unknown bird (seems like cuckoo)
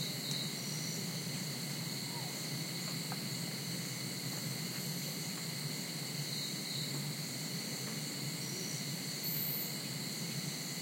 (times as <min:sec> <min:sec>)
0:02.0 0:02.4